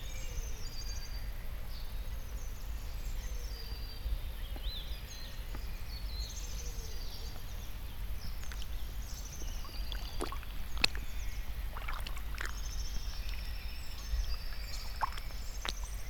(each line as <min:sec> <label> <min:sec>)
0:07.2 puddles 0:16.0